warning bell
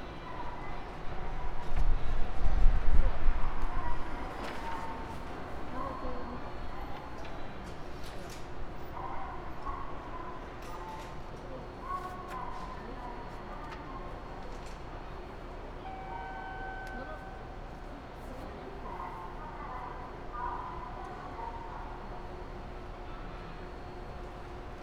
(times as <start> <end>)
15.8 17.6